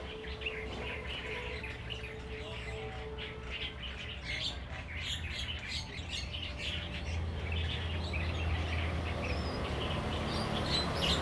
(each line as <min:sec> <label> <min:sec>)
0:07.2 Traffic Sound 0:11.2